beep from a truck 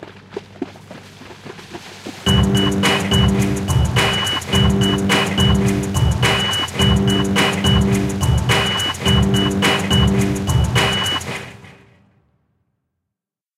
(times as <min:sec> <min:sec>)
0:02.3 0:11.3